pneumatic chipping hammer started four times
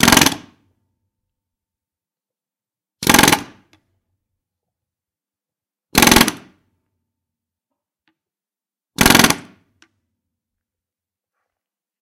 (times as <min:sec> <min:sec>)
0:00.0 0:00.6, 0:03.0 0:03.7, 0:05.9 0:06.6, 0:09.0 0:09.6